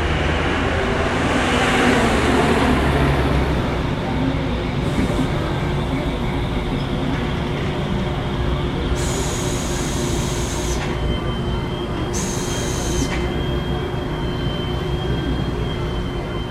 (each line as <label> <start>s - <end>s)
steam machine of the laundry 4.8s - 15.8s